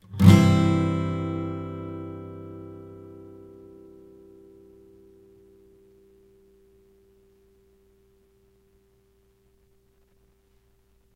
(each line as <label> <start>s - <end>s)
acoustic guitar strummed with metal pick 0.0s - 10.1s